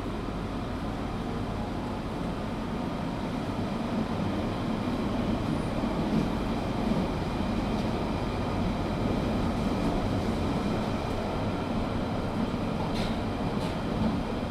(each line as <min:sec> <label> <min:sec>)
0:00.0 underground train (tube train) travelling 0:14.5